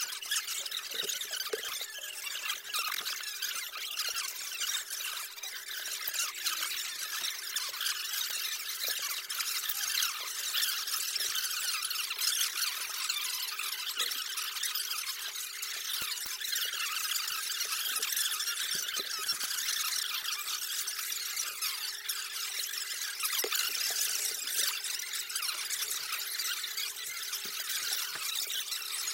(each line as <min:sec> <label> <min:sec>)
0:00.0 creatures 0:29.1